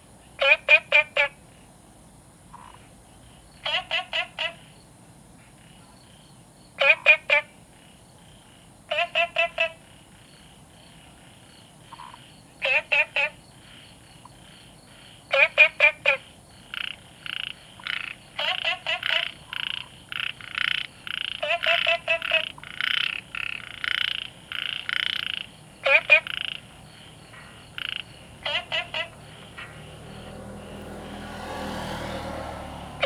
Frogs chirping 0:00.2 - 0:33.0

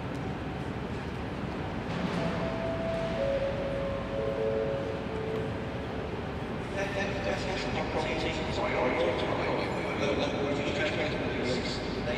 A train arrives 0:00.0 - 0:12.1
announcements 0:02.2 - 0:09.4

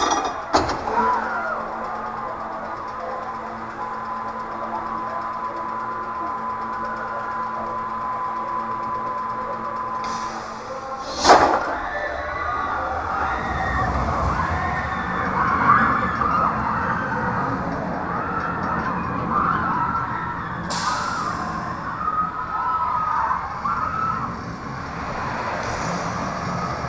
children playing loudly 0:00.4 - 0:04.1
children playing loudly 0:10.3 - 0:26.8

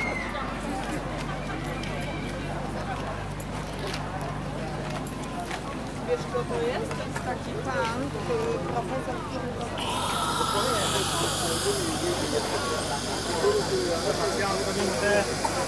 trailer power transformer trembling with deep drone 0:09.8 - 0:15.6

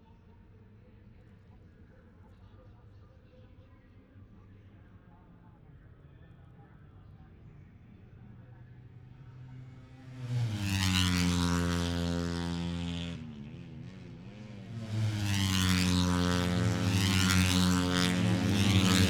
motorcycle grand prix 0:08.1 - 0:19.0

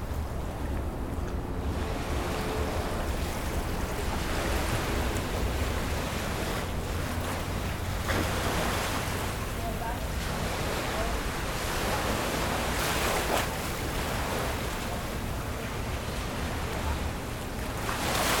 waves 0:00.0 - 0:18.4

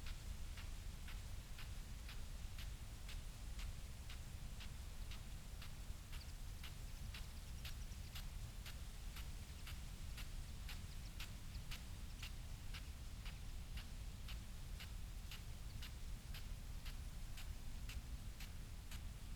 pheasant 0:04.1 - 0:19.0

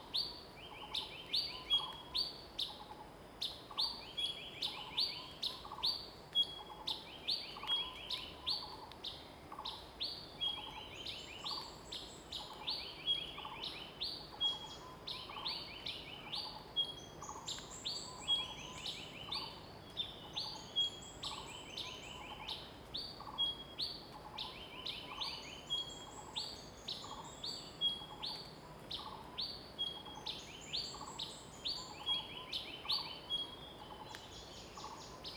Birds singing 0:24.2 - 0:35.3

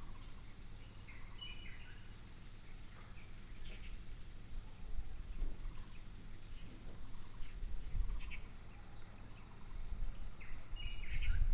Bird song 0:00.0 - 0:02.1
Bird song 0:05.7 - 0:11.5

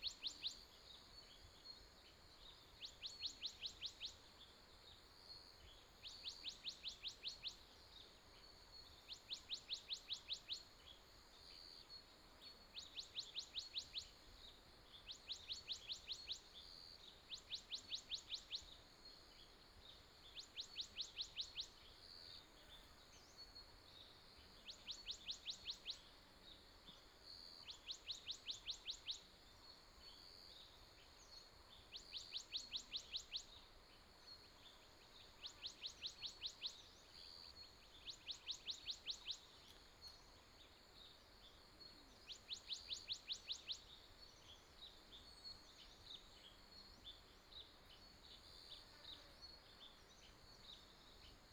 Insect noise 0:00.0 - 0:51.5

